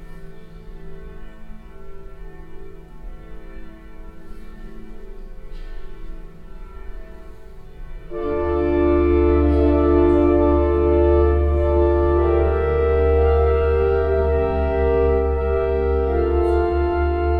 outside church bells 0.0 - 17.3
organ play 6.4 - 17.3

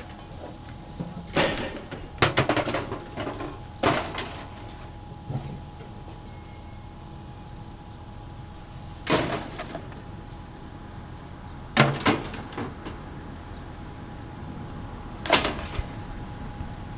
man collecting scap metal 0.0 - 6.3
man collecting scap metal 8.8 - 10.2
man collecting scap metal 11.8 - 13.1
man collecting scap metal 15.3 - 16.1

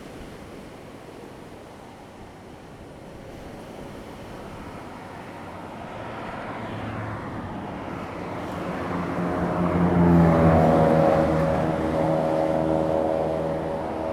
waves 0.0 - 14.1
Traffic sound 4.4 - 14.1

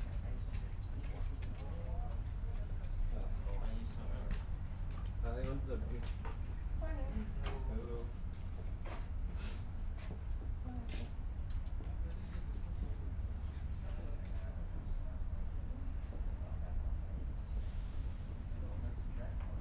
regional train is arriving 1.8 - 19.6

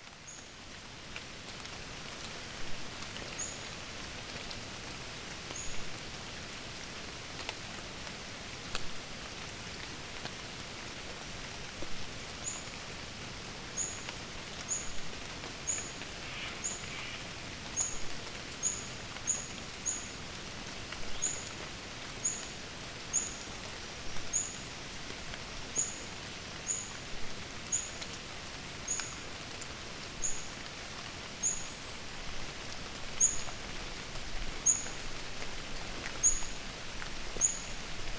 rain 0.0 - 38.1

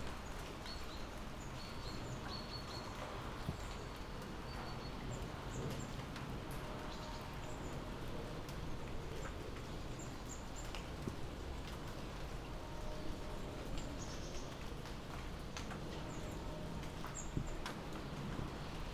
light rain 0.0 - 18.9

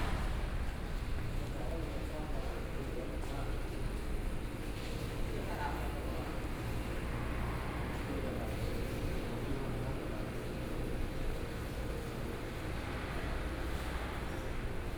Traffic Sound 0.0 - 2.7

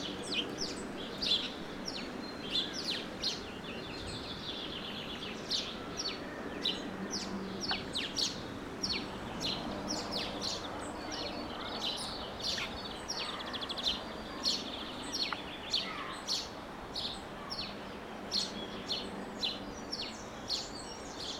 bird song 0.0 - 21.3

